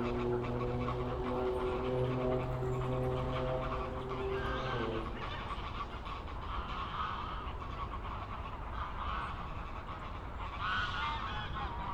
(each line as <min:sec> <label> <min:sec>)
0:00.0 very loud car 0:05.9
0:00.0 aircraft 0:11.9